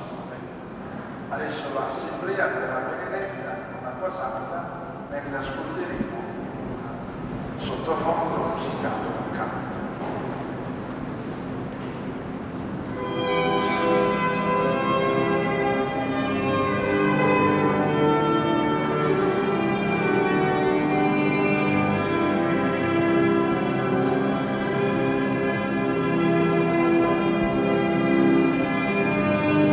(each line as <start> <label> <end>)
0.0 wedding ceremony 29.7